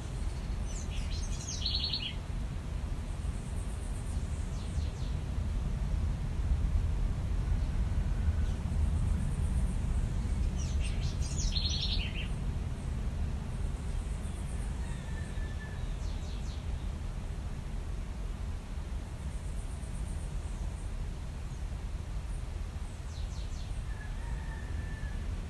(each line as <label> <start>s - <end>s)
birds singing 0.0s - 2.2s
birds singing 9.5s - 17.0s